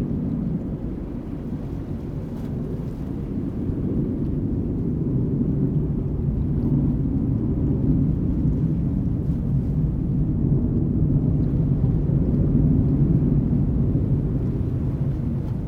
waves 0:00.0 - 0:15.6

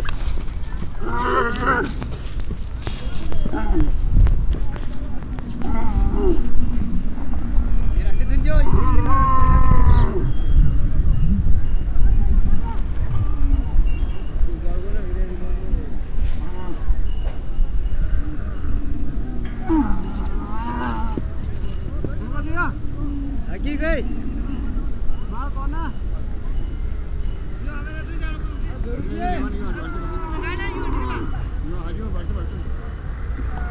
Camels 0:00.0 - 0:33.7

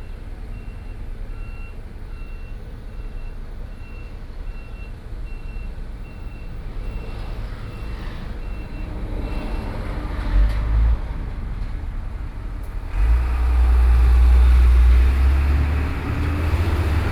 Traffic Sound 0:05.9 - 0:17.1

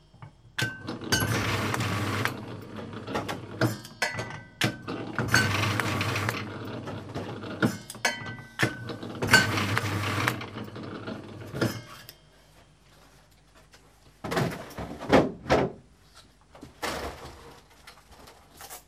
packing them in boxes 0:12.4 - 0:18.8

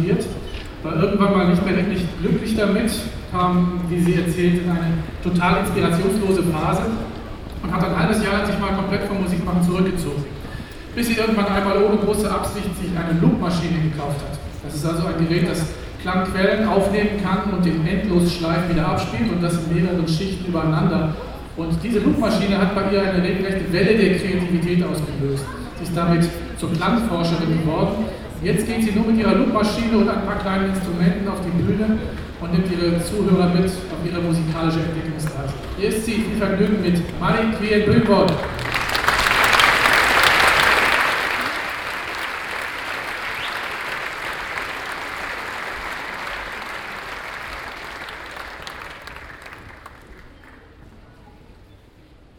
audience atmosphere 0:33.1 - 0:51.5

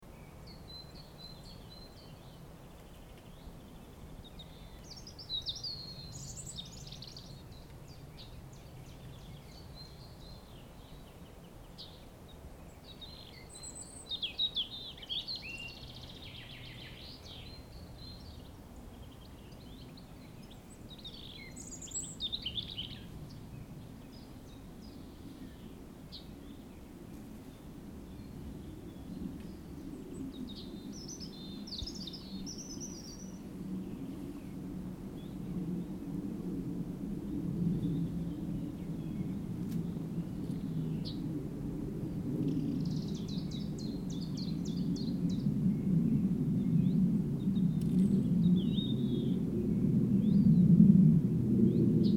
Forest birds singing 0:00.0 - 0:36.4
trees rustling 0:00.0 - 0:50.4
Plane flying high over forest 0:00.0 - 0:52.1
Forest birds singing 0:37.1 - 0:41.4
Forest birds singing 0:42.0 - 0:50.8
Forest birds singing 0:51.6 - 0:52.1

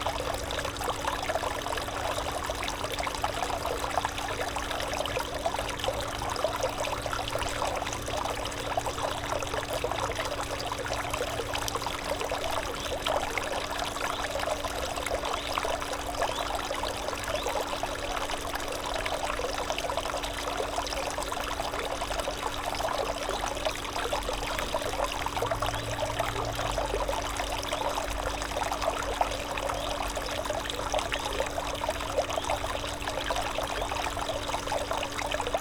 fountain 0:00.0 - 0:35.6

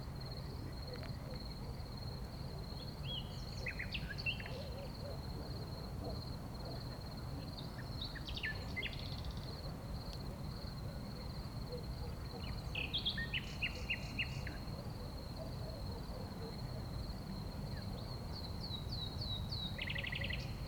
Night singing of nightingale 0:02.6 - 0:09.7
Night singing of nightingale 0:10.9 - 0:20.6

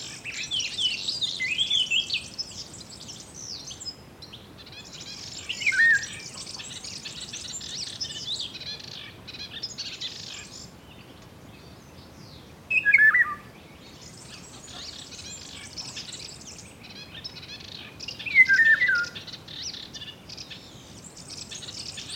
light wind in the trees 0:00.0 - 0:22.1
others birds around 0:00.0 - 0:22.1
few chicken in background 0:04.6 - 0:10.6
few chicken in background 0:14.2 - 0:20.6

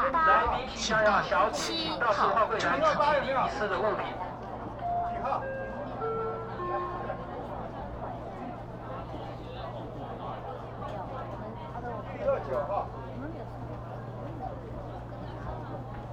Counter broadcasting 0:04.8 - 0:08.1

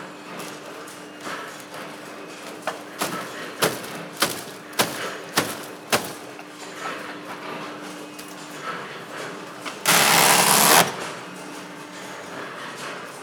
Machines stamping and cutting forms out of paper and cardboard 0:00.4 - 0:06.4
Machines stamping and cutting forms out of paper and cardboard 0:09.8 - 0:11.2

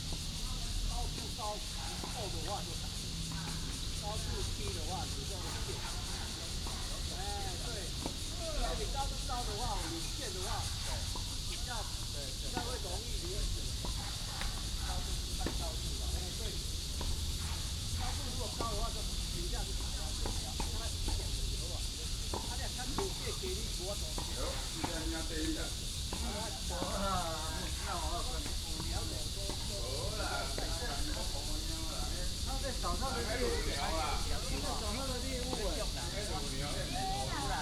Cicadas 0:00.0 - 0:37.6
Walking in the tennis court 0:00.0 - 0:37.6
Traffic sound 0:12.6 - 0:26.9

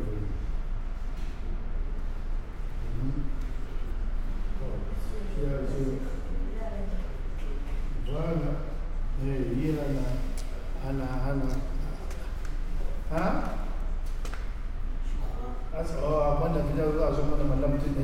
People discussing with their phone 0:02.1 - 0:18.0

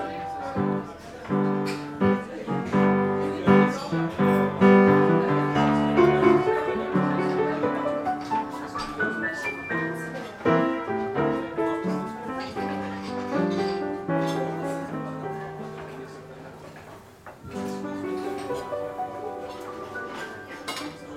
People eating 0:00.0 - 0:21.1
piano player 0:00.0 - 0:21.1

